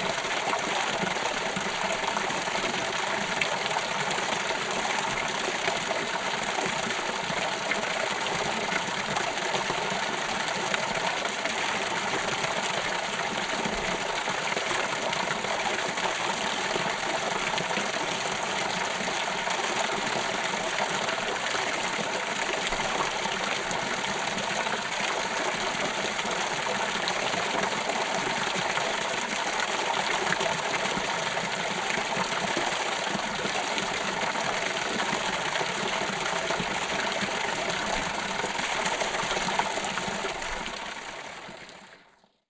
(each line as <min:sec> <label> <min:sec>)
0:00.0 creek 0:42.4